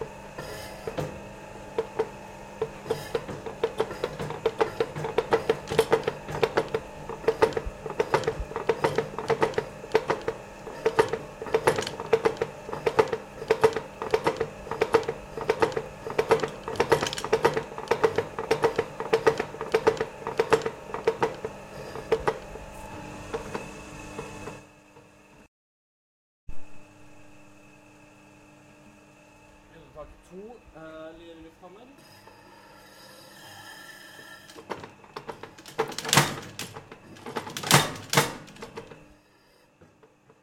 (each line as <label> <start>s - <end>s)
spring hammer 0.0s - 24.5s
spring hammer 34.5s - 39.0s